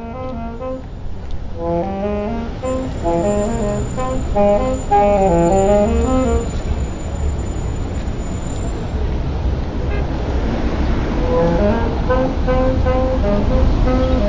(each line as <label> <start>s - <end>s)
noodling horn player 0.0s - 8.4s
street car 0.0s - 14.2s
traffic 0.0s - 14.2s
bicycles 2.6s - 11.2s
voices 2.6s - 9.0s
noodling horn player 11.2s - 14.2s